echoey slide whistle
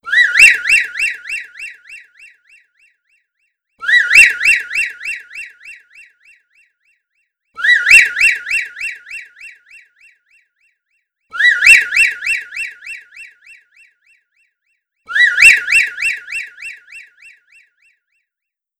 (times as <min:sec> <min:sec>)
0:00.1 0:02.6, 0:03.8 0:06.2, 0:07.6 0:09.9, 0:11.3 0:13.6, 0:15.1 0:17.6